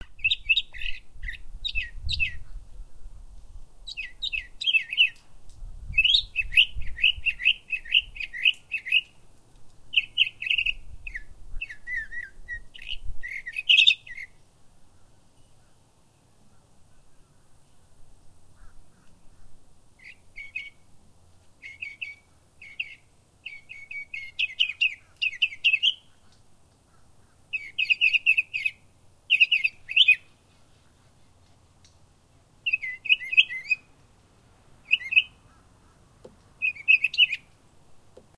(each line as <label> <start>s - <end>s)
Mockingbird 0.0s - 2.7s
slight wind noise 0.0s - 38.3s
Mockingbird 3.8s - 5.2s
Mockingbird 5.9s - 9.2s
Mockingbird 9.9s - 17.9s
crows 18.5s - 19.6s
Mockingbird 18.5s - 20.9s
Mockingbird 21.6s - 31.6s
crows 26.0s - 27.6s
Mockingbird 32.6s - 34.0s
Mockingbird 34.8s - 37.6s
crows 35.4s - 36.3s